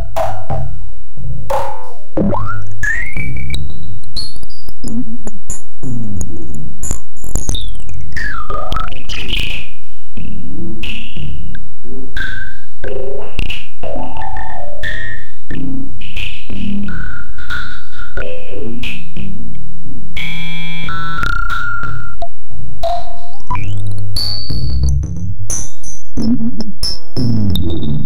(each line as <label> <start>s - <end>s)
highly effected drums 0.0s - 9.7s
highly effected drums 22.8s - 28.0s